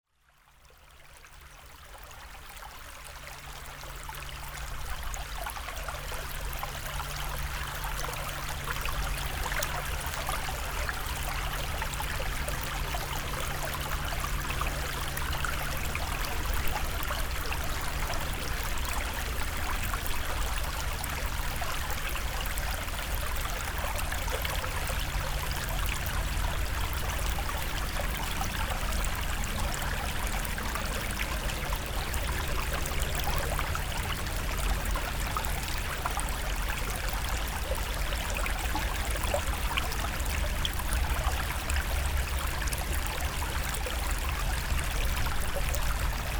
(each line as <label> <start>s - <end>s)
Small river 0.0s - 46.3s